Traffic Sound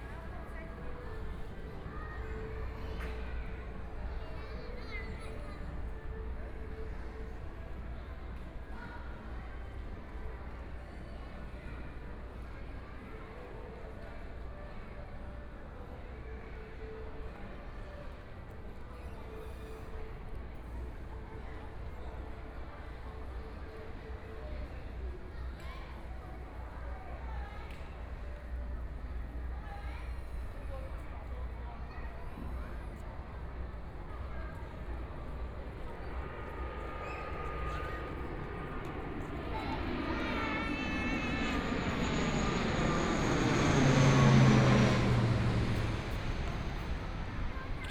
35.0s 47.9s

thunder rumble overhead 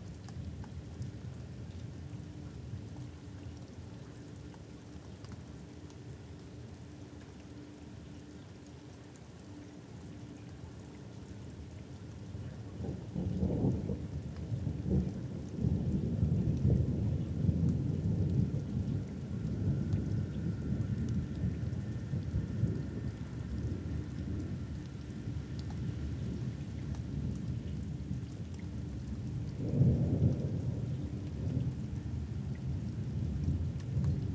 12.4s 34.3s

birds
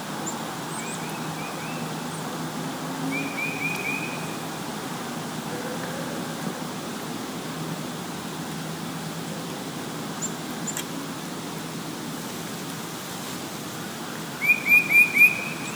14.4s 15.7s

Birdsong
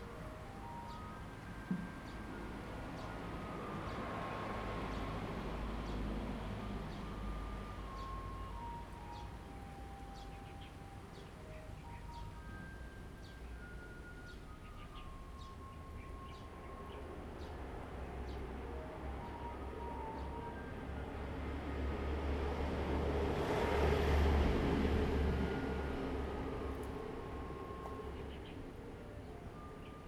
7.9s 19.4s

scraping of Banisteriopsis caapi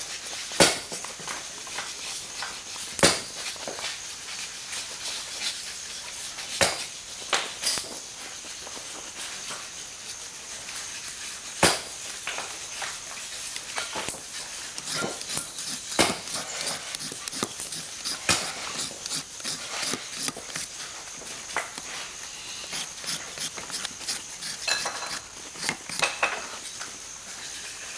13.7s 26.8s

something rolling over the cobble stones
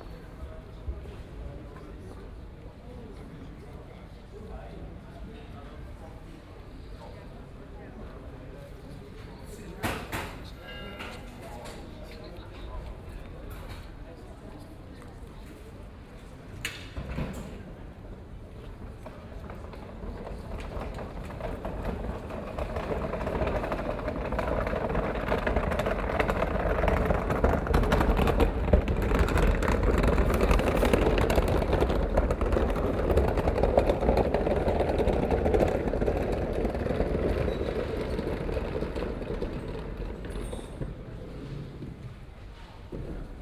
19.0s 41.8s

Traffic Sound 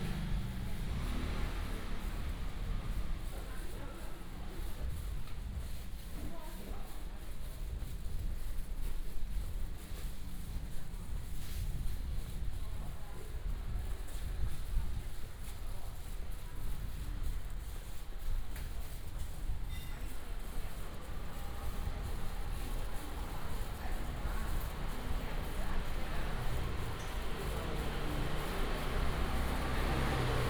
0.0s 5.0s, 20.3s 30.4s

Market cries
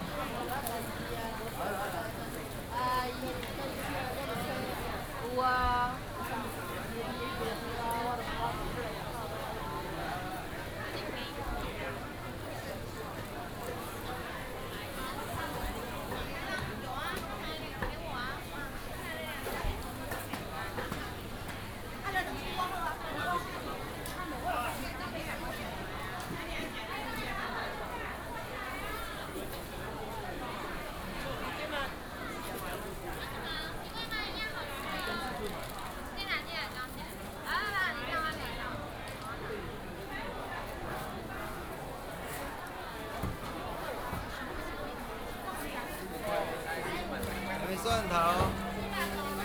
46.3s 49.4s

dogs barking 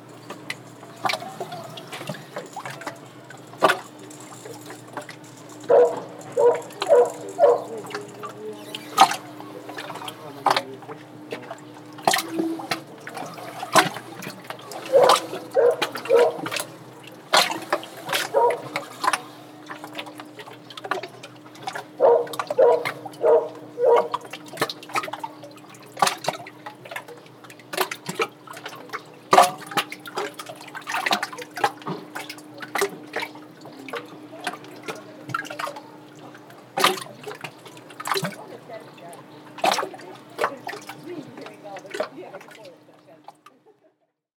5.6s 8.1s, 14.7s 16.7s, 18.1s 19.2s, 21.9s 24.3s

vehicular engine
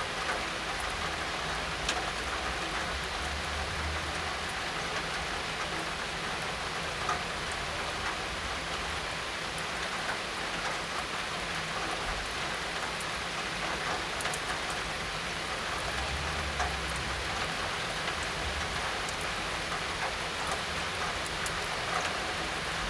15.4s 21.2s

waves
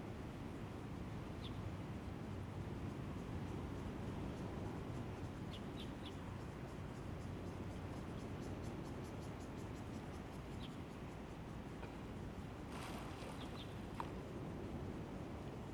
12.4s 14.9s

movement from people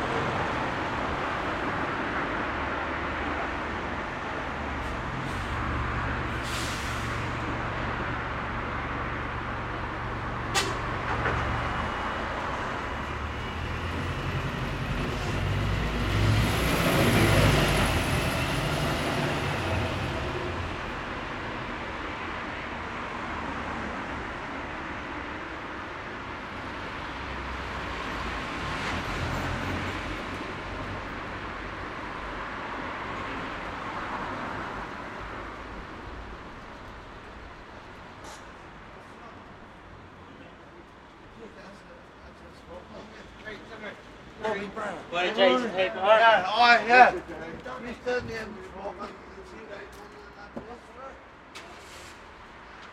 44.4s 51.0s

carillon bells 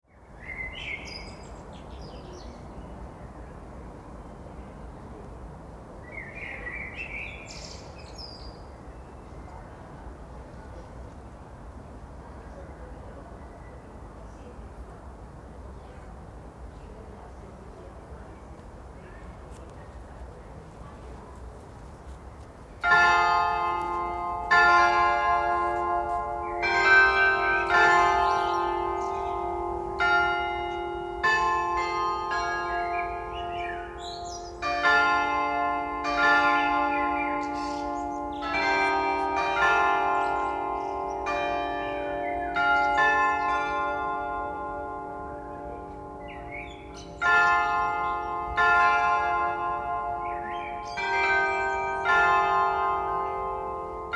22.9s 49.9s

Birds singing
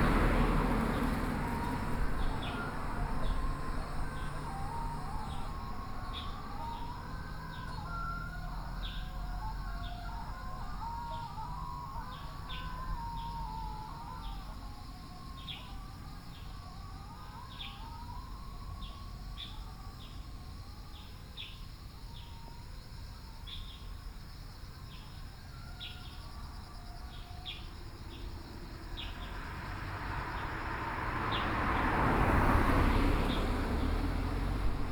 0.0s 14.5s, 15.3s 18.1s, 27.0s 29.4s

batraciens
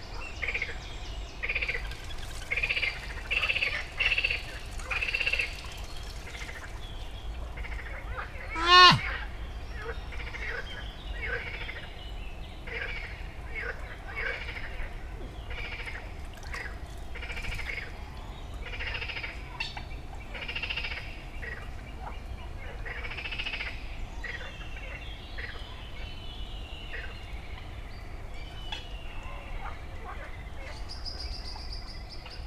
1.5s 9.1s

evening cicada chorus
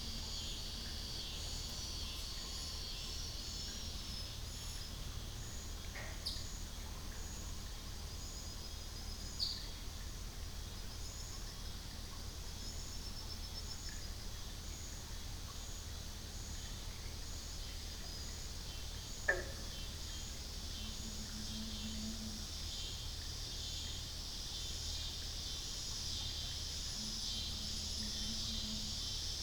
0.0s 6.4s, 17.4s 29.4s

